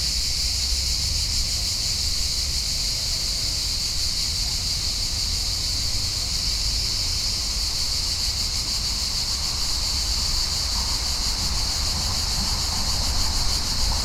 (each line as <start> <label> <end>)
0.0 High volume cicadas 14.0